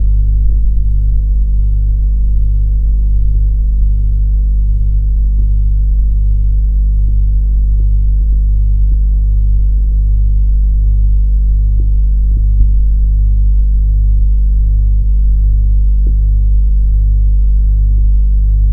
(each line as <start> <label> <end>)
0.0 Electronic House Fan Controller 18.7